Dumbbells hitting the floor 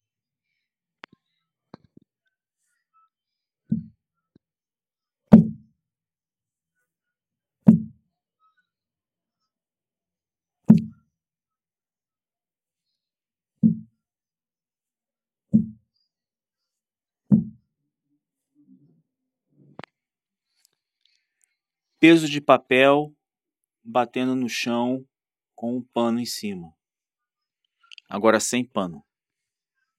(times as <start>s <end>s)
5.3s 5.7s, 7.7s 8.0s, 17.3s 17.6s